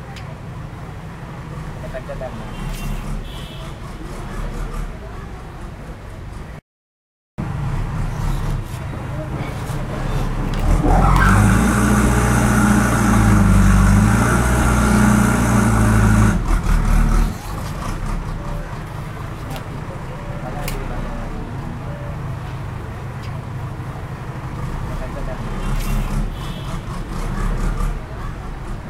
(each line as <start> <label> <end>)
8.0 truck or ATV real start 21.2
24.5 truck or ATV real start 28.8